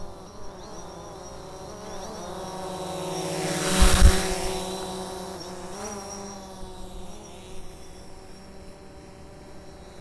drone flying by 0:00.0 - 0:07.9

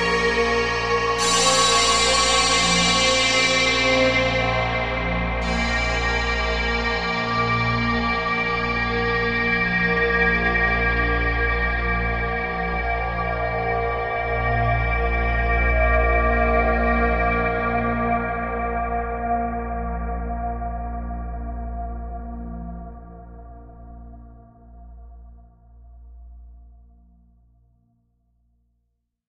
Modal Synthscape 0:00.0 - 0:09.5

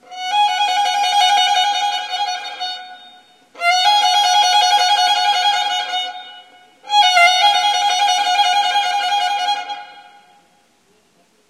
Baroque Phrases on Violin 0:00.0 - 0:10.4

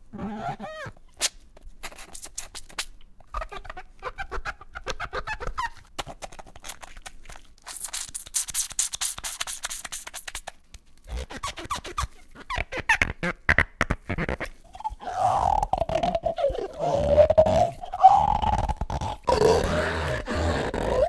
squirt 0:01.2 - 0:03.0
rubber band 0:04.8 - 0:21.0
squirt 0:05.6 - 0:12.1
sucking 0:14.4 - 0:21.0

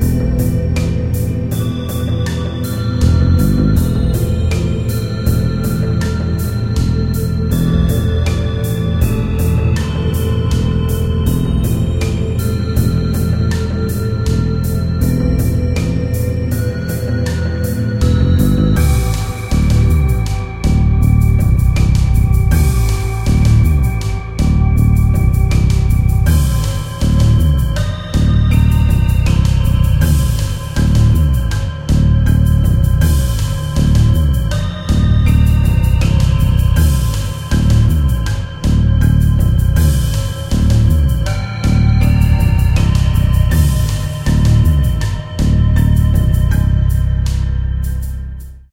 synth 0:00.0 - 0:48.6
drums 0:00.0 - 0:48.6
bass 0:00.0 - 0:48.7

